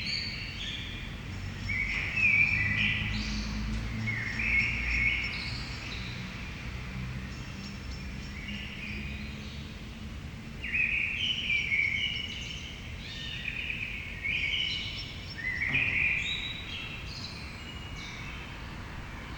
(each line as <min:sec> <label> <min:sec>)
0:10.6 blackbird 0:18.6